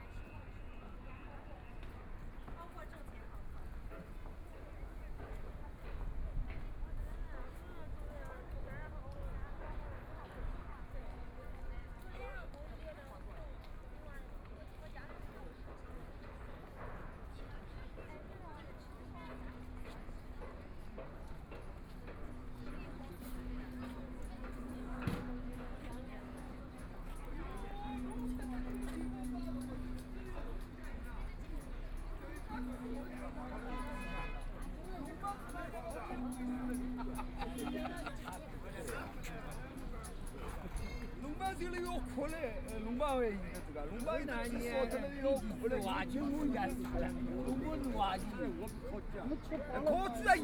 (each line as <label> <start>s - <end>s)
Walking through the Park 15.0s - 50.4s
Construction site noise 17.9s - 50.4s
traffic sound 21.6s - 50.3s